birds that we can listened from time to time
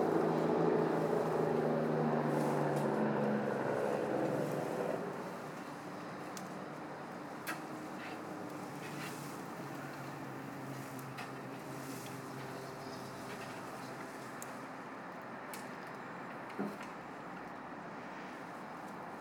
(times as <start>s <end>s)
12.4s 14.1s